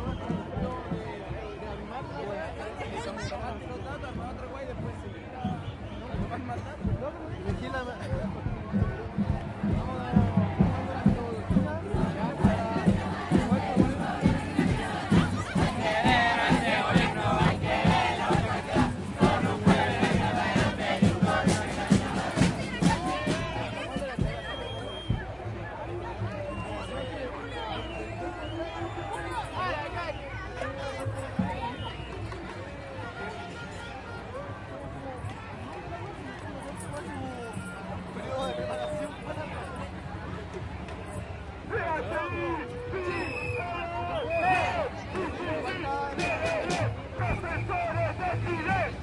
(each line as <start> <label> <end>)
0.0 drums 2.2
0.0 crowd 49.0
4.1 drums 30.3
9.3 conversaciones 25.2
42.5 drums 49.0